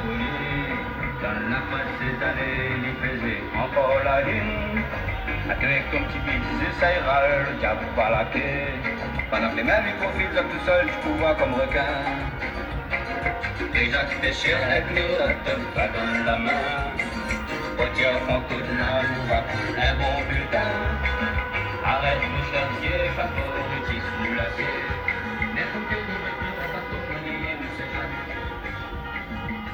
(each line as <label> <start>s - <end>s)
Cortèges de voitures 0.0s - 29.7s